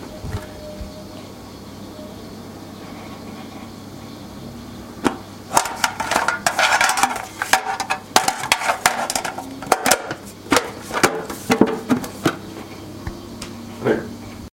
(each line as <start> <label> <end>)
5.0 Tin storage can opening and closing 12.4